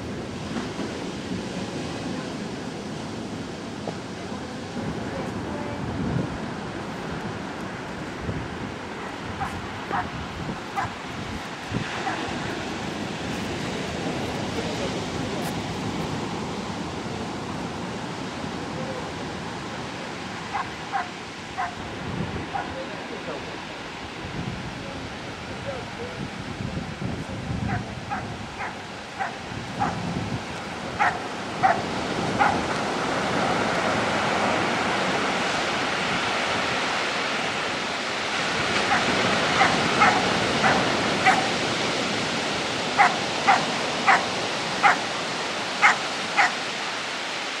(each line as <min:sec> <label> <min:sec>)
0:00.0 puppies surfing and walking 0:26.5
0:27.3 puppies surfing and walking 0:47.6